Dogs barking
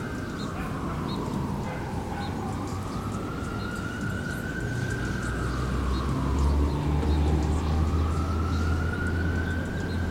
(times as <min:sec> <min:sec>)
0:00.5 0:02.6